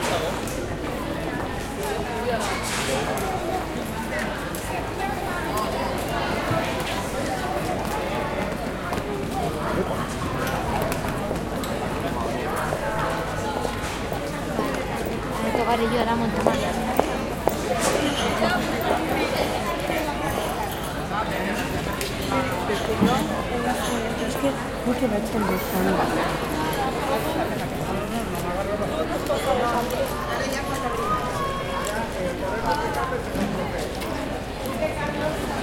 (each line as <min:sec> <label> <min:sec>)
0:00.0 people who walk and talk around 0:35.6
0:29.1 children 0:35.6